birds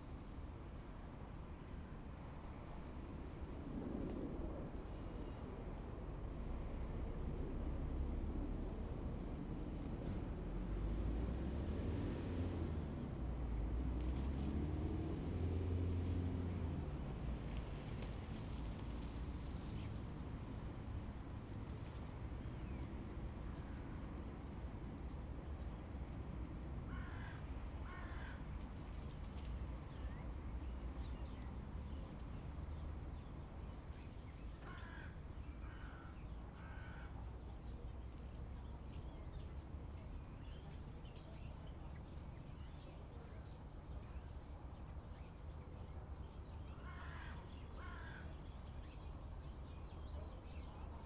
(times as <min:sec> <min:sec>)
0:16.0 0:51.0